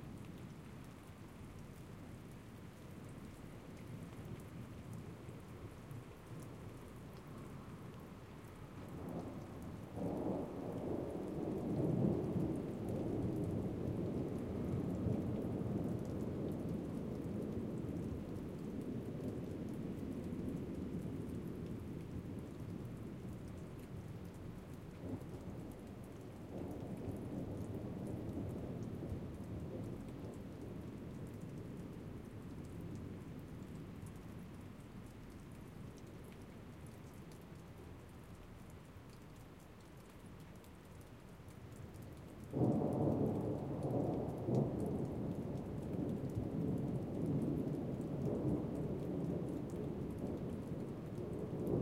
rain 0.0 - 51.8

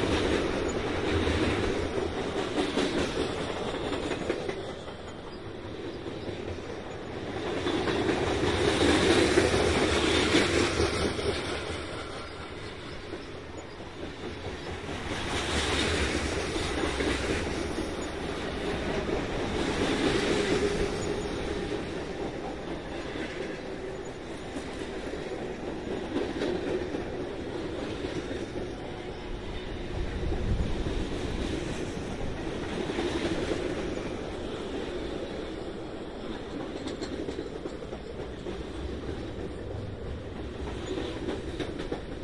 northbound freight 0.0 - 42.2

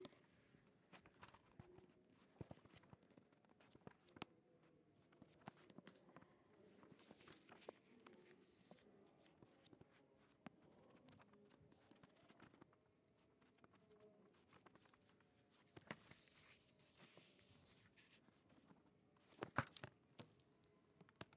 Flipping a book's pages 0.0 - 21.3

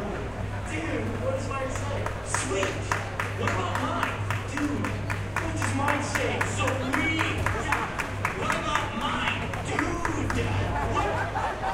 local dairy promotion 0.0 - 11.2
announcement of the next batter 0.0 - 11.2
crowd clapping in time 1.7 - 10.7

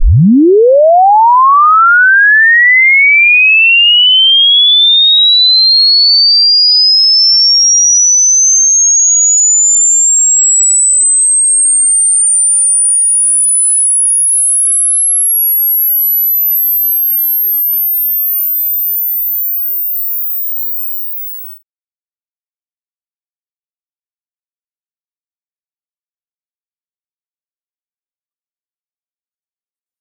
Sine wave sweep 0.0 - 21.6

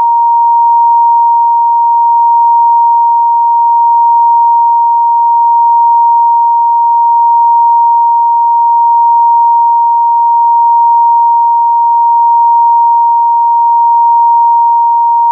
Pure Sine Wave 0.0 - 15.3

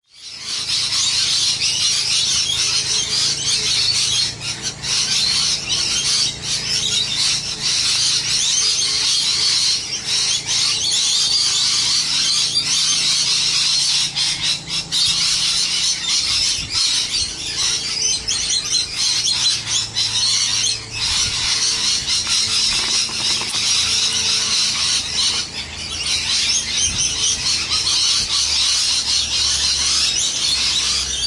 Parrots 0.1 - 31.2
Lawnmower 0.1 - 31.2

